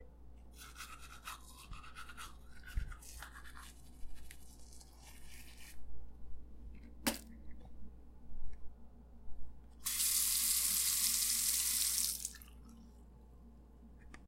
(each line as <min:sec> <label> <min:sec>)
0:00.6 Brushing teeth 0:05.8